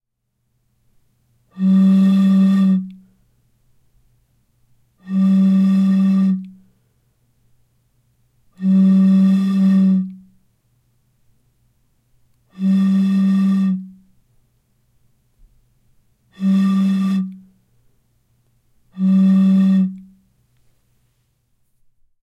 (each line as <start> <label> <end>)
20.4 rustle 21.9